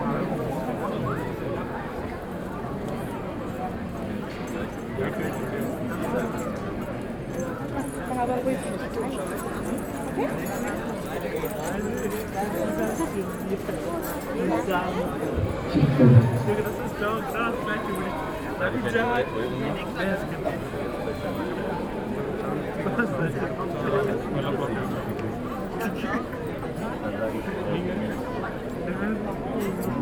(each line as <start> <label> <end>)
7.4 Women are gathered behind the carriage pushing and chanting 23.3